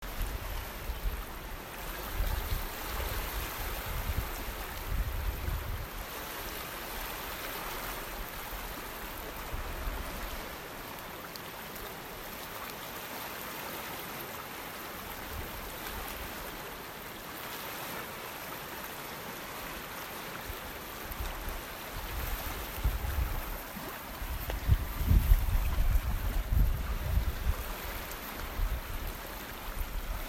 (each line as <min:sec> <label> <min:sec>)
0:00.0 small waves crashing on shore 0:30.2